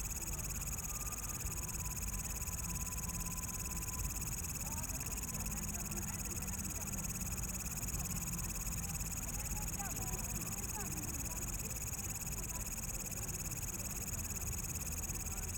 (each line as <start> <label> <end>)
0.0 Insects 15.5
4.6 People walking in the park 7.1
7.7 People walking in the park 15.5